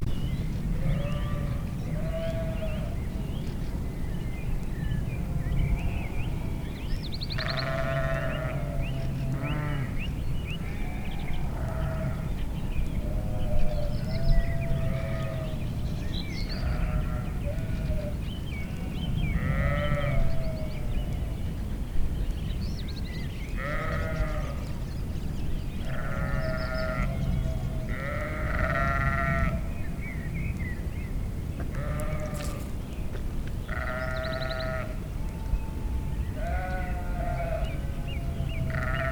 36.4s grazing sheeps 39.1s

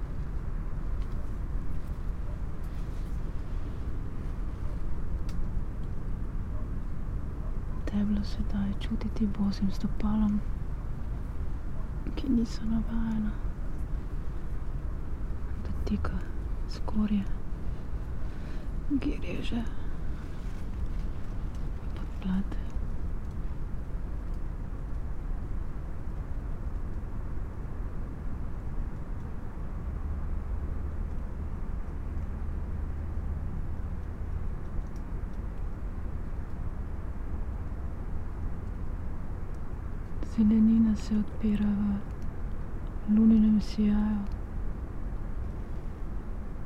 0.0s traffic hum 46.6s
12.1s whisperings and spoken words 13.5s
15.6s whisperings and spoken words 17.4s
22.0s whisperings and spoken words 22.8s

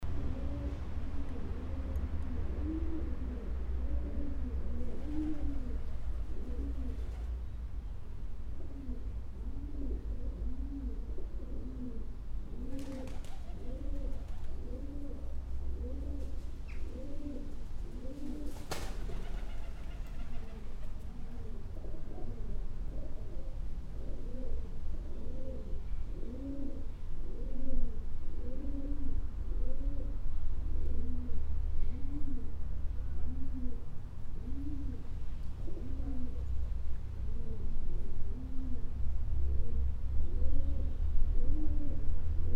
0.0s traffic 12.7s
0.1s pigeons 7.4s
8.6s pigeons 30.2s
13.4s traffic 18.4s
19.0s traffic 42.5s
30.8s pigeons 42.5s

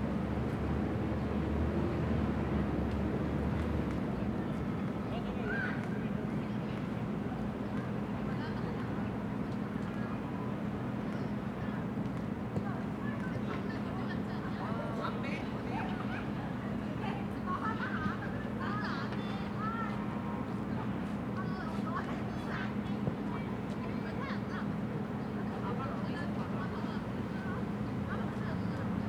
4.9s kids playing soccer 6.9s

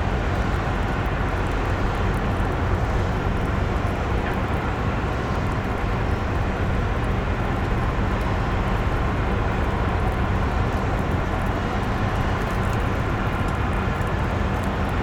0.0s rain 15.0s
0.0s vessels anchored close to the shore make a constant mechanic noise 15.0s

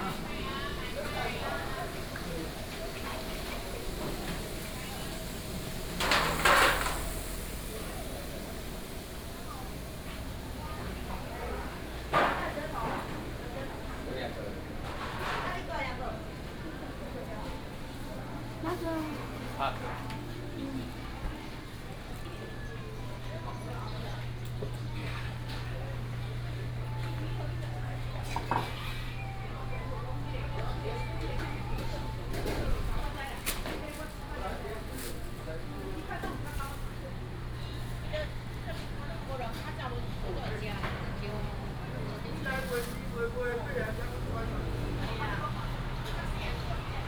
37.2s traffic sound 47.0s

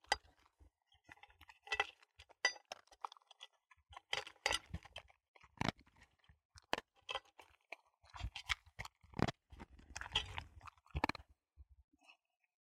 6.6s dog eating dinner 11.2s

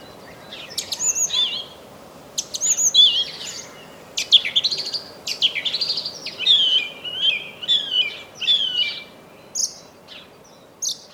0.0s Many birds, beautiful songs 11.1s

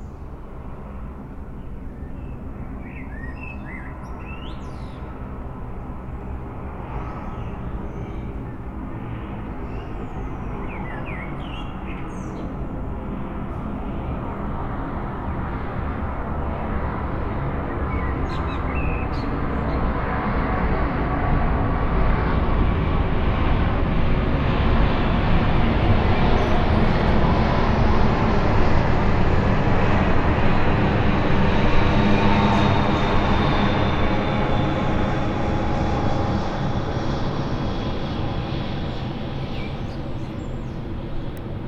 0.0s landing plane flyover 41.6s
1.6s birdsong 5.2s
9.6s birdsong 12.6s
17.7s birdsong 19.9s
39.2s birdsong 41.0s

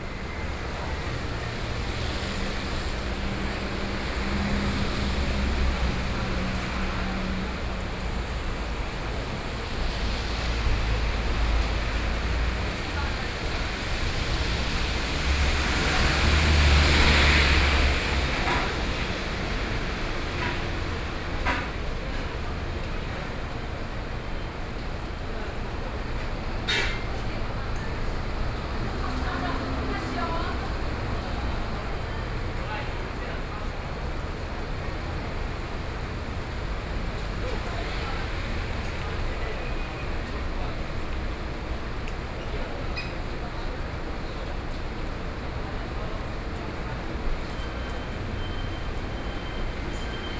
0.0s Traffic Noise 50.3s

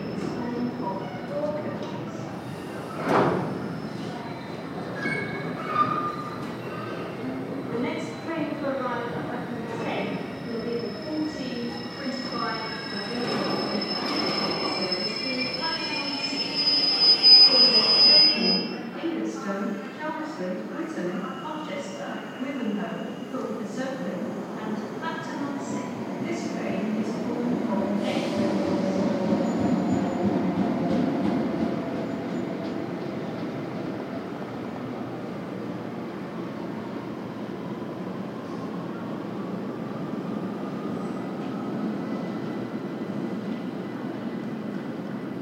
0.0s Freight Trains and Passenger Trains passing through the station 45.4s

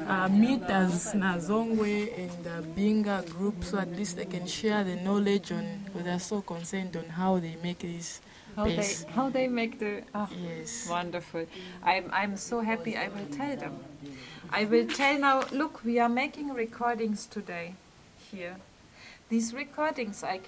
0.0s women present their projects 20.4s

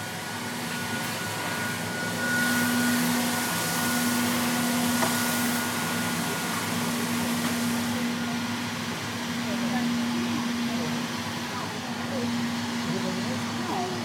0.0s Cleaning machine 14.0s
7.6s people talking 14.0s

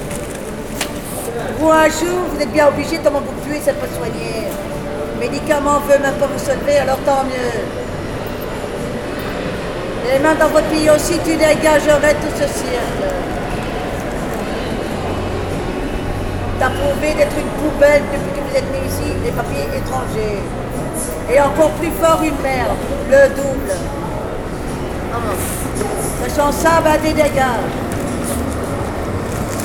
10.0s woman talking alone 13.3s
16.6s woman talking alone 20.6s
21.3s woman talking alone 24.0s
26.2s woman talking alone 27.8s

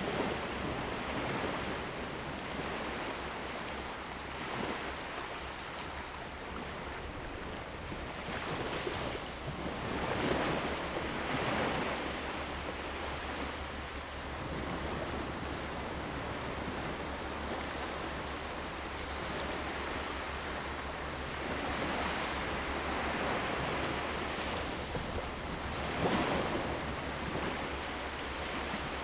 0.0s waves 29.0s

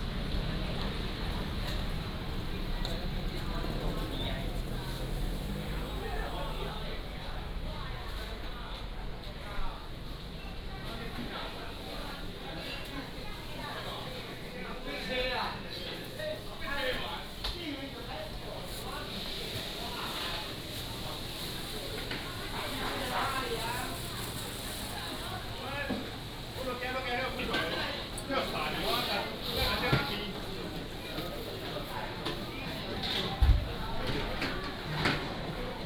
0.0s Traffic sound 9.3s
0.0s Walking in the market 35.8s

